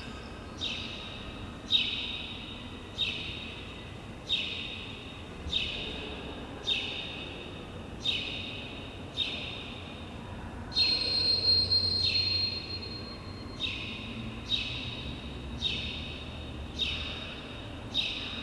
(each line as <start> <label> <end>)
10.8 motion sensor beep 14.2